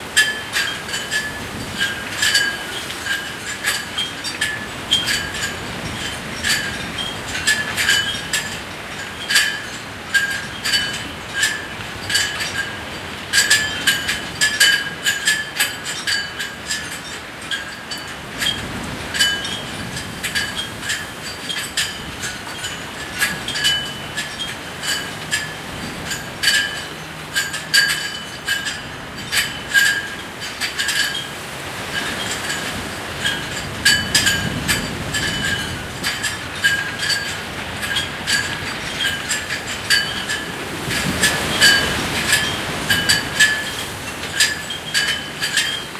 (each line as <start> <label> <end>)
0.0 Wind 45.9
0.2 dangling chains and collapsed metal bars swing around 45.9